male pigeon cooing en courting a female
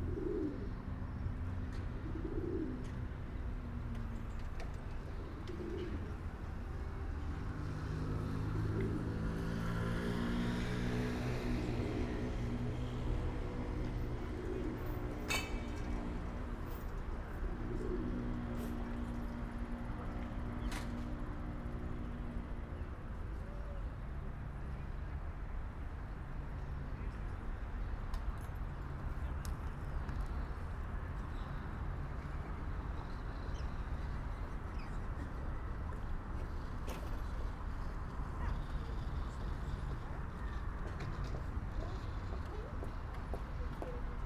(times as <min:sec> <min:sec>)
0:00.0 0:00.9, 0:01.9 0:03.0, 0:05.2 0:06.2, 0:13.8 0:15.3, 0:17.4 0:19.0